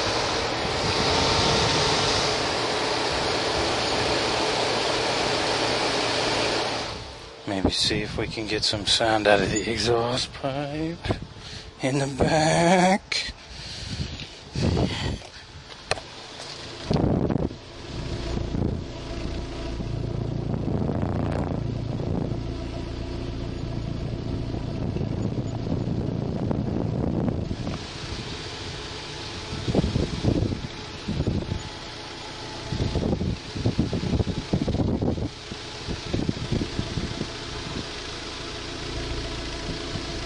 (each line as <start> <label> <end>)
0.0 abnormal wind noise 40.2
0.0 engine 40.2